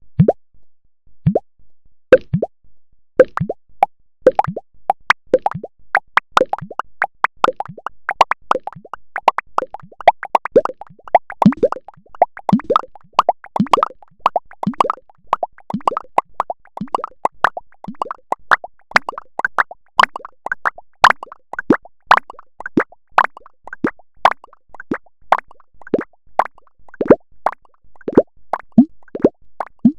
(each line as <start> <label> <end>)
0.2 series of blip blops 0.4
1.2 series of blip blops 1.5
2.1 series of blip blops 2.5
3.2 series of blip blops 3.6
4.3 series of blip blops 29.9